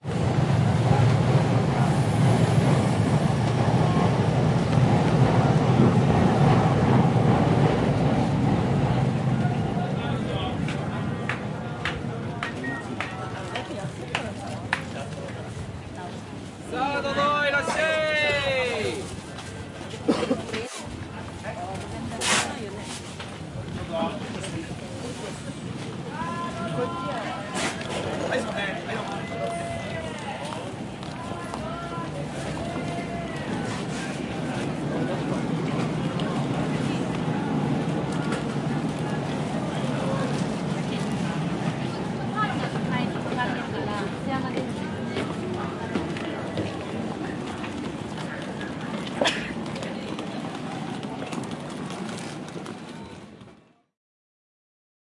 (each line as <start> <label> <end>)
0.0 trains arriving overhead 20.1
20.7 trains arriving overhead 53.6